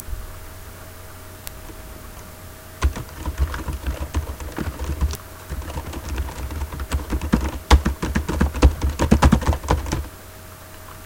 2.8s Typing on Ordi laptop keyboard 10.1s

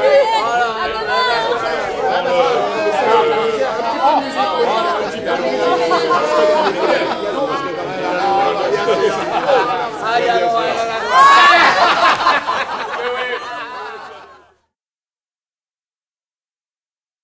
0.0s noisy discussions 14.5s
5.6s Laughter 7.6s
8.8s Laughter 10.0s
10.9s Laughter 14.6s

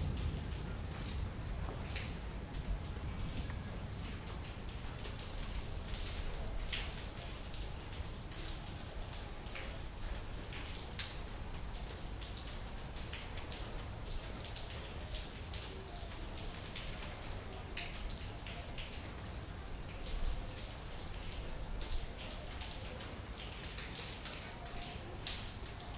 0.0s storm 6.9s
0.0s rain 25.9s

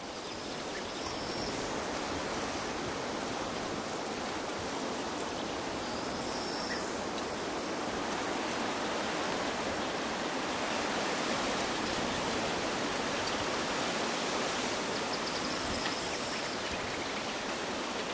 0.0s birds in background 2.0s
0.0s wind on a Willow tree 18.1s
4.9s birds in background 13.6s
14.6s birds in background 18.1s

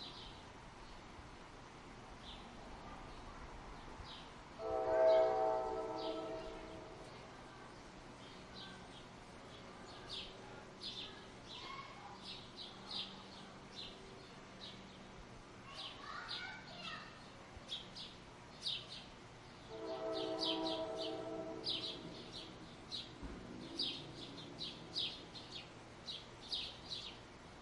4.6s distant train horn 7.1s
15.6s children playing 17.3s
15.7s Birds 27.2s
19.7s distant train horn 22.4s

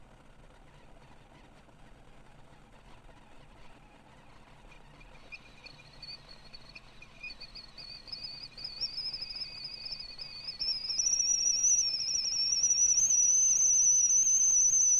5.2s tea kettle whistle 14.9s

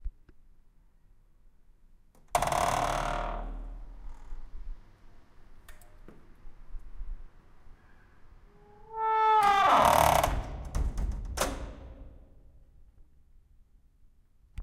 8.9s Heavy steel door opening, closing and locking 12.5s

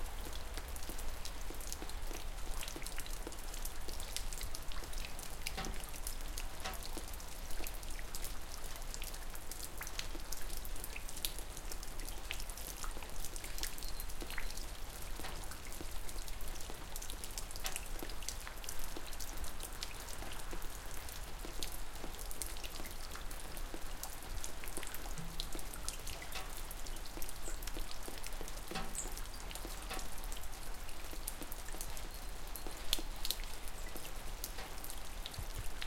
0.0s dripping rain 35.8s

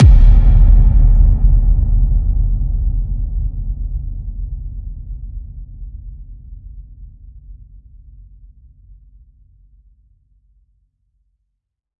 0.0s Reverb Kick 5.2s

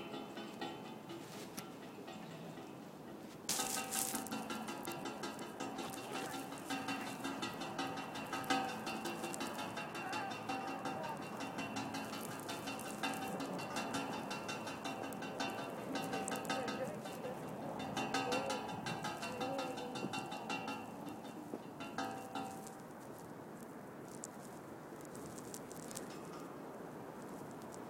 0.0s flagpole line hitting pole in wind 2.4s
3.1s flagpole line hitting pole in wind 22.9s

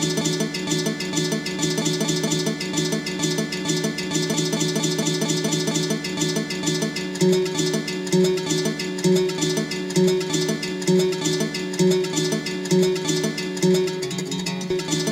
0.0s Guitar 15.1s

